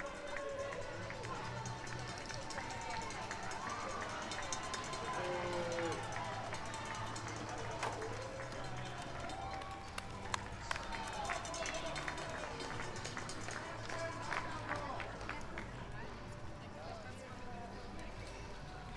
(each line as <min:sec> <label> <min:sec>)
0:00.0 cowbells 0:09.6
0:00.0 People cheering 0:15.7